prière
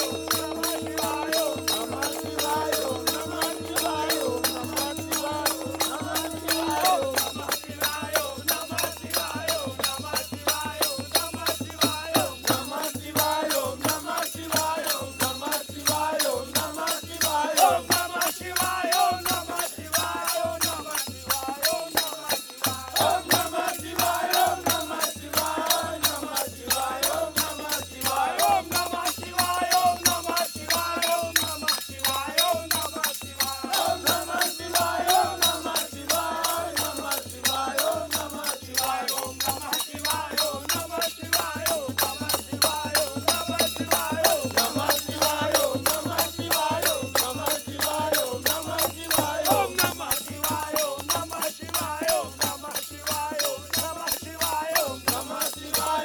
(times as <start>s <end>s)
0.0s 7.6s